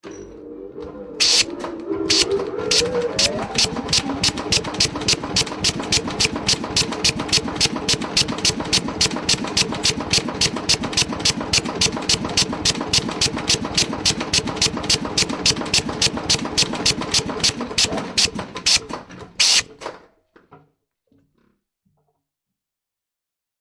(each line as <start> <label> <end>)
1.2 Power hammer 1.5
2.1 Power hammer 19.8